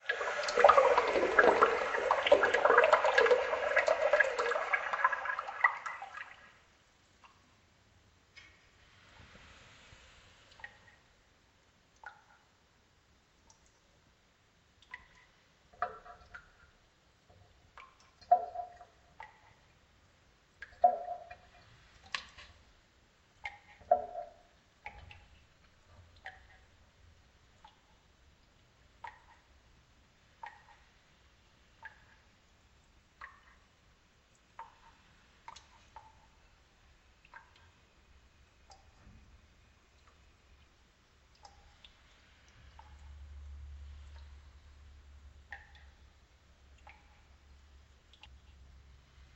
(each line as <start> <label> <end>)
0.0 dripping sounds 7.4
10.5 dripping sounds 11.2
14.8 dripping sounds 29.6
30.2 dripping sounds 31.0
31.7 dripping sounds 49.3